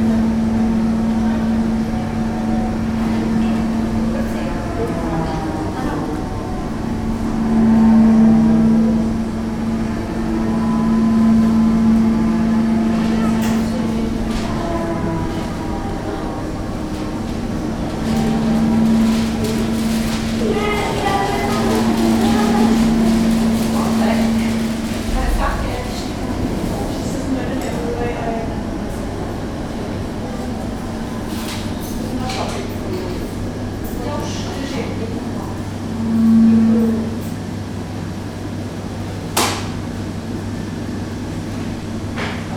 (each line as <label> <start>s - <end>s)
sirens air raid test 0.1s - 27.5s
sirens air raid test 35.2s - 38.7s